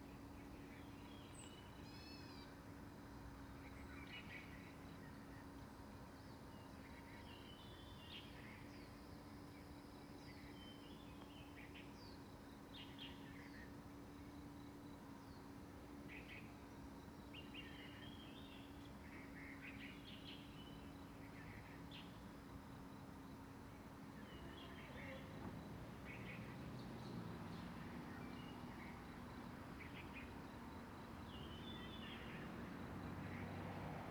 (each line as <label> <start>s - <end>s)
Traffic Sound 32.1s - 34.1s